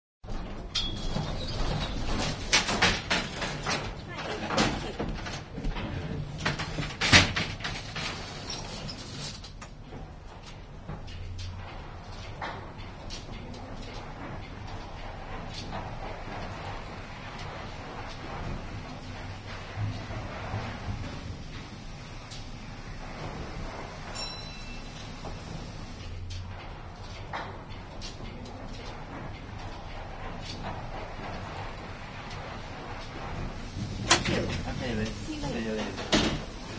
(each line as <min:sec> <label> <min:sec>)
0:00.2 doors clatter open and shut 0:36.7
0:00.7 Bell rings 0:01.3
0:24.1 Bell rings 0:25.1